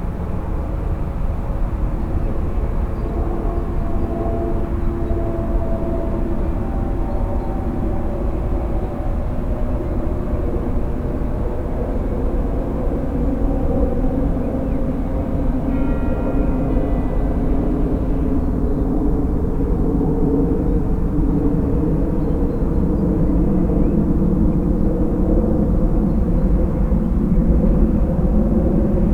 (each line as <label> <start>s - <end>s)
planes 0.0s - 29.1s